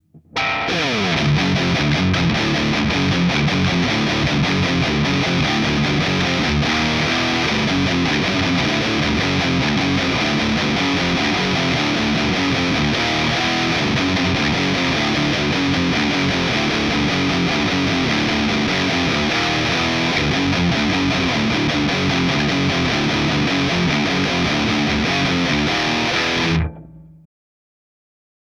riffs made by me, using a custom made Les Paul style guitar 0.0 - 27.3

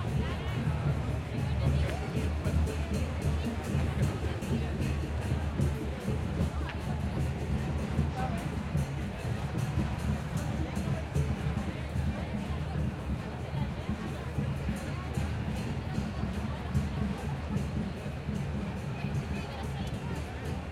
crowd 0.0 - 20.7

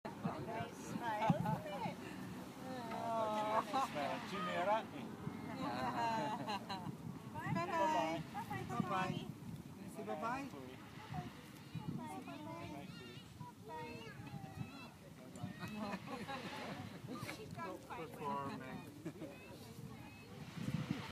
waves 0.1 - 21.1

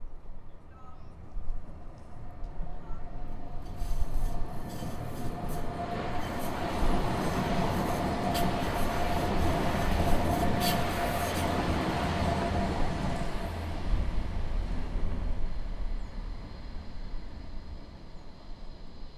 Tram screeching 2.9 - 13.9

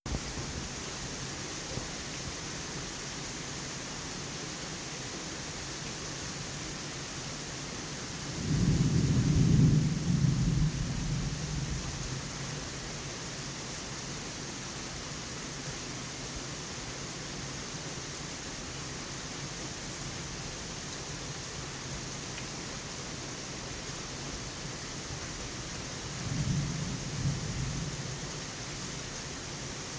thunder booming and rumbling 8.4 - 11.8

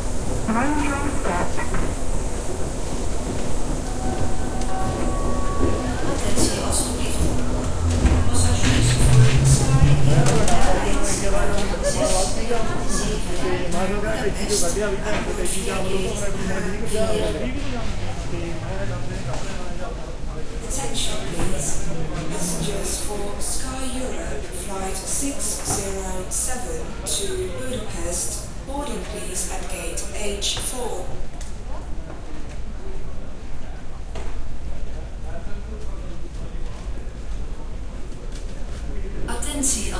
crowd 0.0 - 39.9
speaker 0.4 - 1.9
speaker 5.6 - 31.2
speaker 39.3 - 39.9

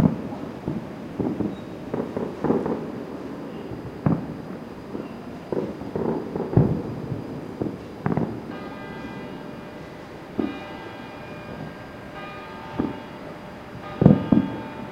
fireworks 0.0 - 14.9
church bells striking 12 8.4 - 14.9

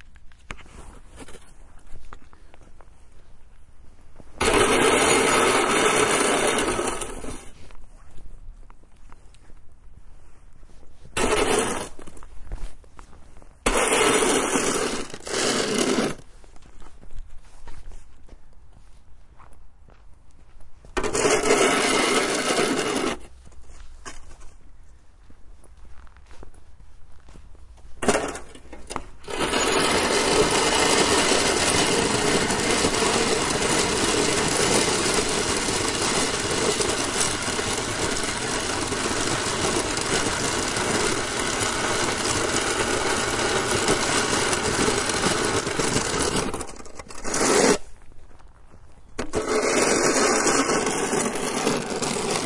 Shoveling Snow 4.4 - 7.7
Shoveling Snow 11.0 - 12.8
Shoveling Snow 13.6 - 16.4
Shoveling Snow 21.0 - 24.2
Shoveling Snow 28.0 - 48.0
Shoveling Snow 49.2 - 52.4

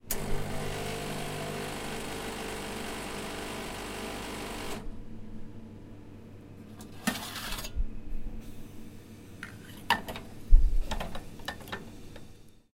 coffee machine 0.0 - 4.9

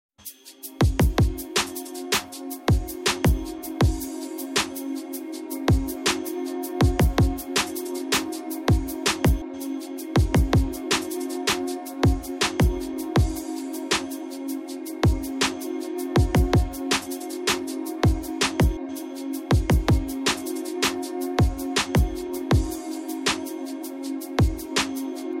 Music song track with beats 0.2 - 25.4

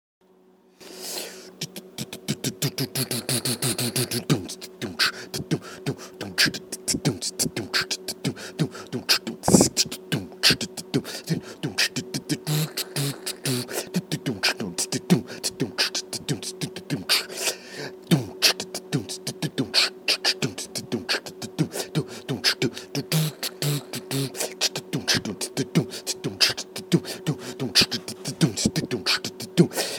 Hihat 0.8 - 17.6
Hihat 18.2 - 29.9

